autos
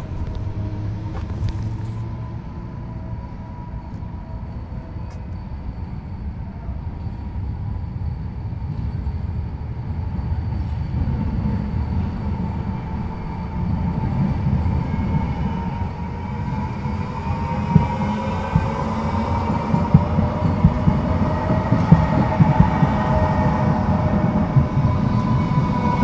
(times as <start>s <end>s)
0.0s 5.3s